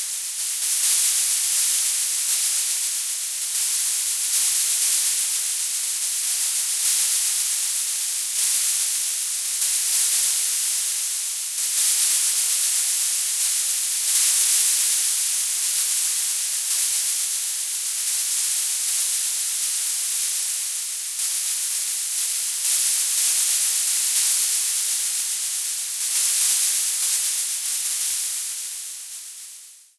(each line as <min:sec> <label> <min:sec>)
0:00.0 Shaker like noises 0:29.4